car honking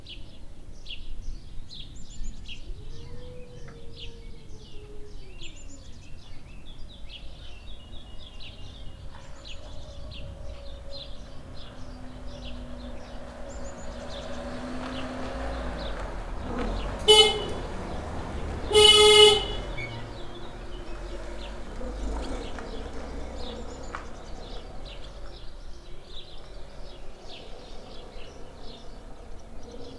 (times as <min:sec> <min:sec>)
0:10.5 0:25.1